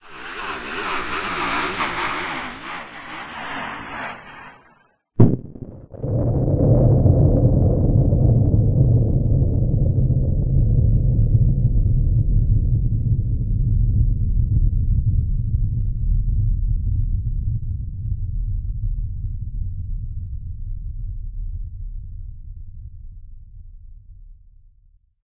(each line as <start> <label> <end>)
0.0 plane 23.1